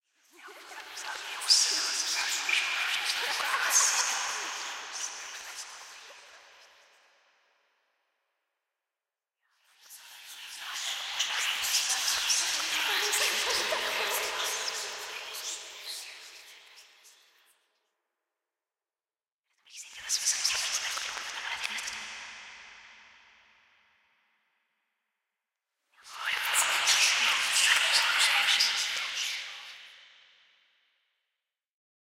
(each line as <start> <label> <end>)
0.4 serveral people whispering 6.8
9.8 serveral people whispering 17.2
19.8 serveral people whispering 22.3
26.0 serveral people whispering 29.8